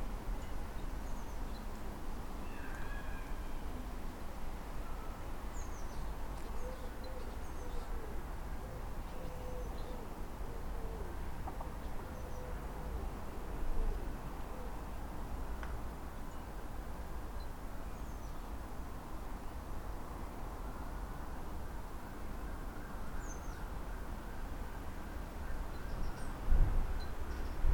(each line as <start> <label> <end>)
2.4 Robins 4.0
4.8 Robins 15.1